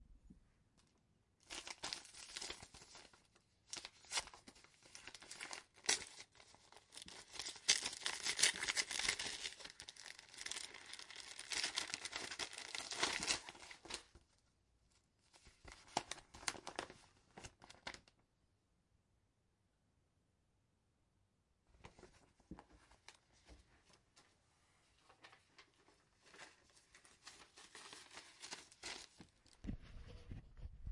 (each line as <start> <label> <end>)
1.4 opening an envelope 14.2
15.3 opening an envelope 18.2
25.1 opening an envelope 29.6